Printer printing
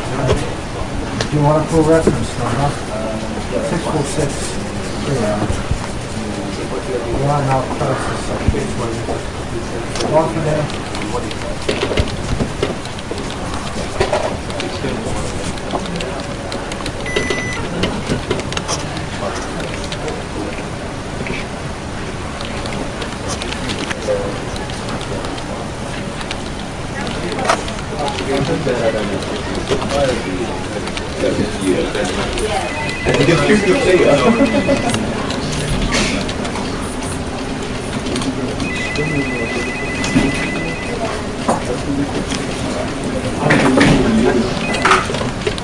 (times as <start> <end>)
9.9 20.1, 26.0 45.6